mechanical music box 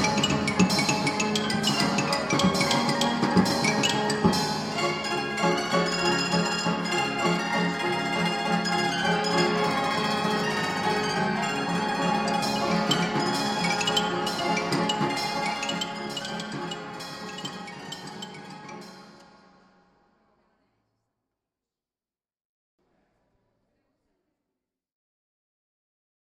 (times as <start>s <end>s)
12.2s 18.9s